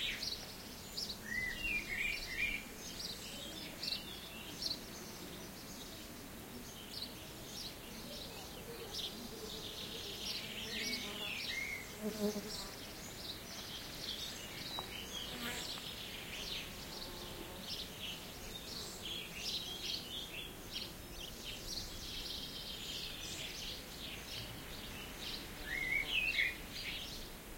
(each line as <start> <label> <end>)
0.0 birds 27.5